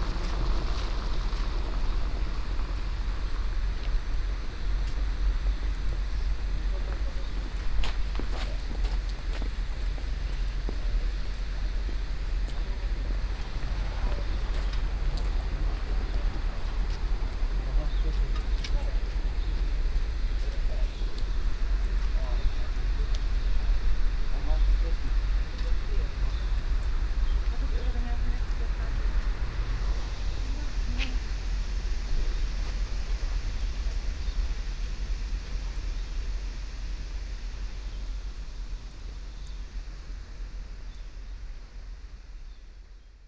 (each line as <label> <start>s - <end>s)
cars passing by 0.0s - 6.0s
passengers 0.0s - 34.2s
humming house ventilation 0.0s - 43.2s
cars passing by 11.6s - 23.0s
cars passing by 23.8s - 34.0s